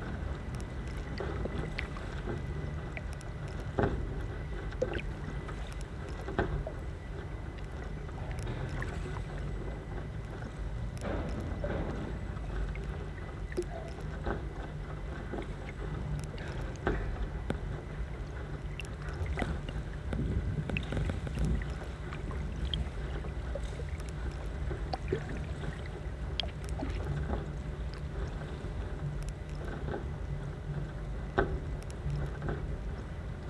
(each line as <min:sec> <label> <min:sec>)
0:00.0 speedboats underwater 0:33.4